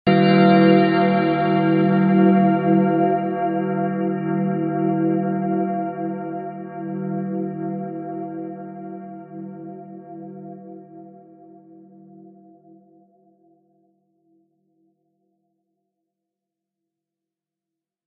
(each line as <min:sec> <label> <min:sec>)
0:00.1 Grand Bell 0:13.0